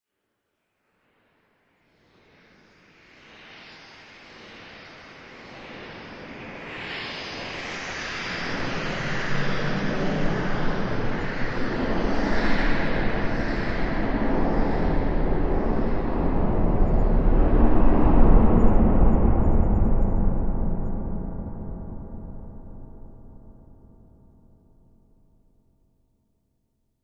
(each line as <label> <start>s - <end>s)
Space-Time Capsule Materialises 8.2s - 24.2s